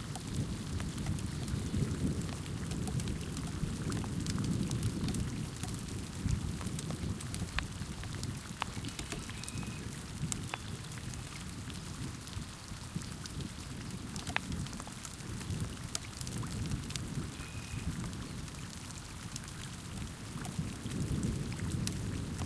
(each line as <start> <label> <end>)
0.0 continuous, rolling thunder 8.5
0.0 spring rain 22.4
20.0 continuous, rolling thunder 22.4